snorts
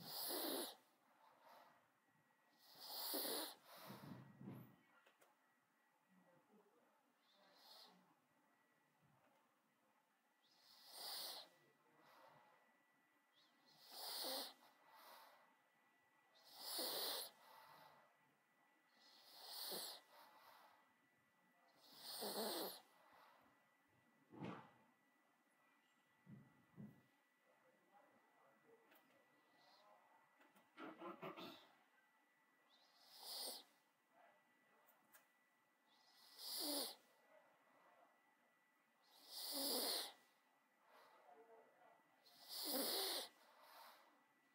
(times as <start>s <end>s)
0.0s 0.8s, 2.6s 4.2s, 7.3s 8.0s, 10.6s 11.5s, 13.7s 15.3s, 16.4s 17.9s, 19.0s 20.4s, 21.8s 22.9s, 30.8s 31.7s, 32.9s 33.7s, 36.0s 37.0s, 39.1s 40.3s, 42.3s 44.1s